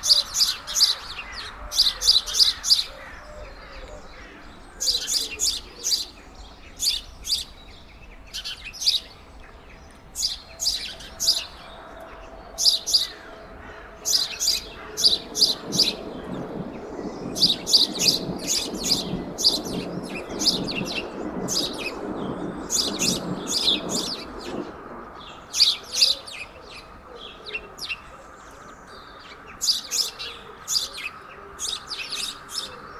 a train is passing 0:00.0 - 0:32.9
noisy sparrows are playing on a tree 0:00.0 - 0:32.9

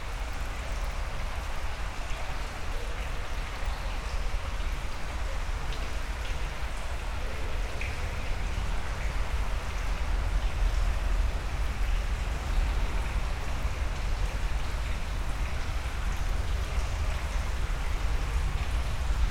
Dirty underground river 0:00.0 - 0:19.3
Walking into the underground river 0:00.0 - 0:02.2

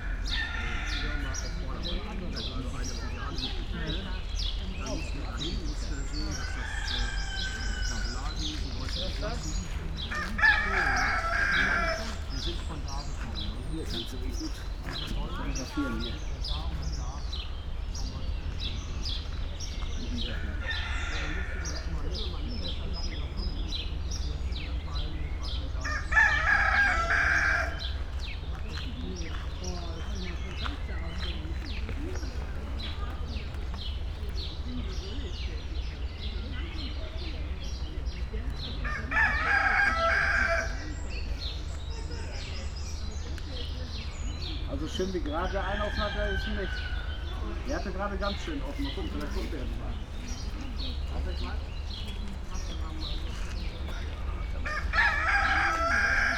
cocks 0:00.0 - 0:01.6
peacocks 0:00.0 - 0:56.3
wind in tree crowns 0:00.0 - 0:56.3
spoken words 0:00.6 - 0:26.0
steps 0:07.5 - 0:17.4
cocks 0:10.1 - 0:12.5
cocks 0:20.3 - 0:22.0
cocks 0:25.8 - 0:28.0
steps 0:27.8 - 0:34.6
cocks 0:38.8 - 0:40.9
steps 0:48.3 - 0:56.0
cocks 0:54.6 - 0:56.3

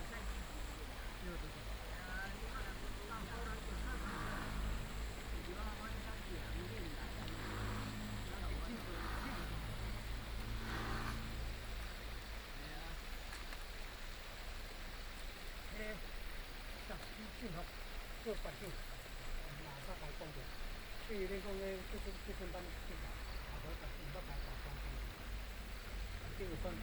Traffic sound 0:00.0 - 0:13.3
Tourists 0:00.0 - 0:14.5
stream 0:00.0 - 0:26.8
Traffic sound 0:19.0 - 0:26.8

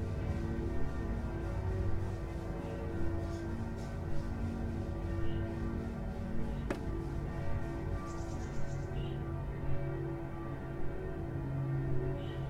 distant bells 0:00.0 - 0:12.4
birds 0:07.9 - 0:09.2

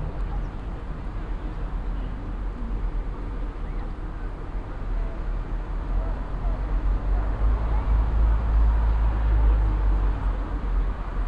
traffic in a distance 0:00.0 - 0:11.2

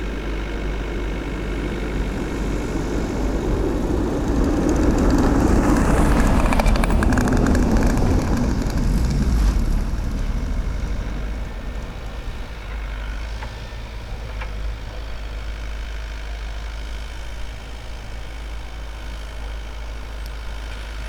cars pass by 0:00.0 - 0:21.0
working excavator in the distance 0:00.0 - 0:21.0

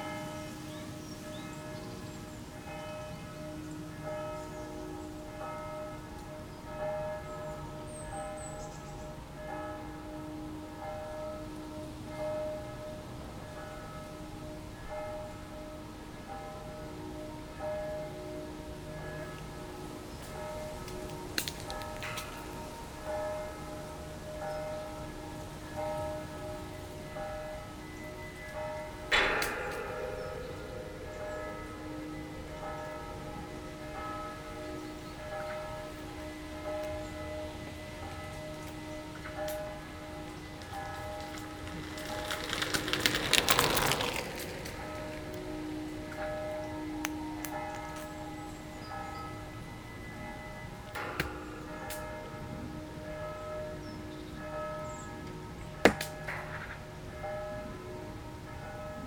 Distant bells 0:00.0 - 0:59.0
bicycles circulating on it 0:40.4 - 0:45.6

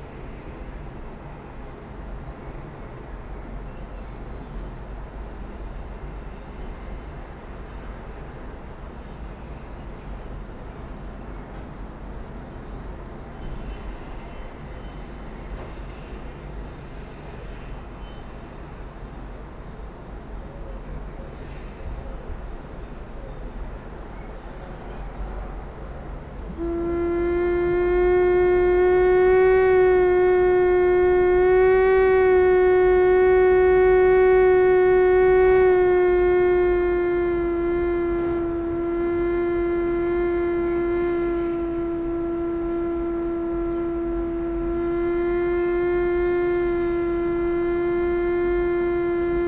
window slit flute 0:26.5 - 0:49.4

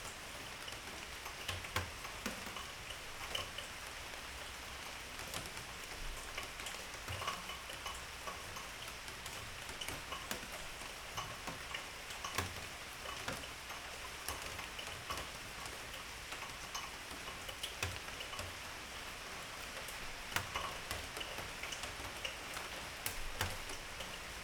rain 0:00.0 - 0:24.4

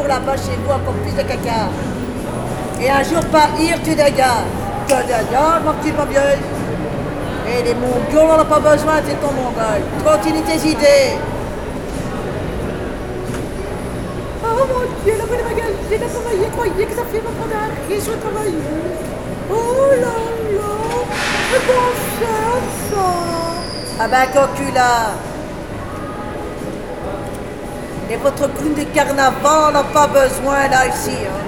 woman talking alone 0:14.4 - 0:25.2

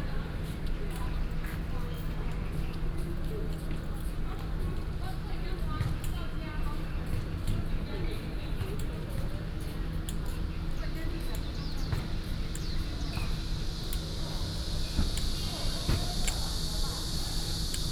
Cicadas called 0:09.4 - 0:17.9

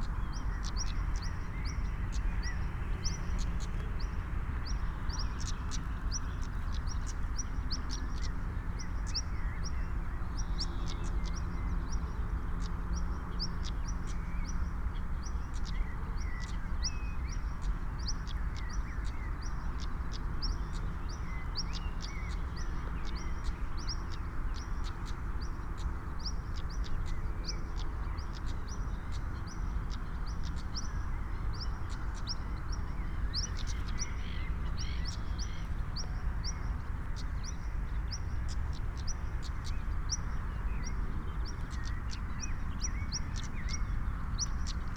train is passing by in the distance 0:14.7 - 0:44.9

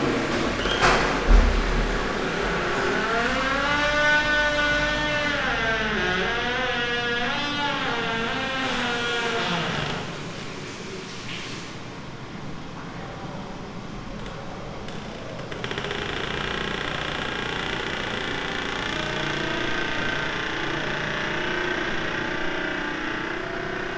toilet doors 0:00.0 - 0:10.4

